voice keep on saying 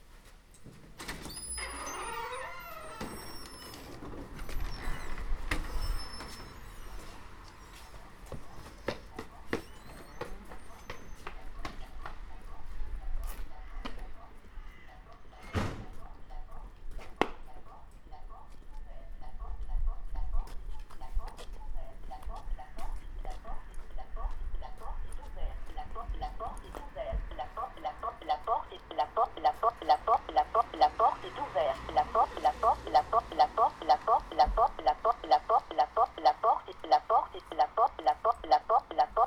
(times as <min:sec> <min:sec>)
0:18.1 0:39.2